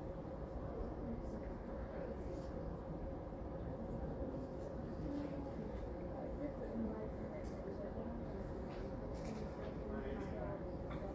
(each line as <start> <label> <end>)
0.1 General background noise 11.1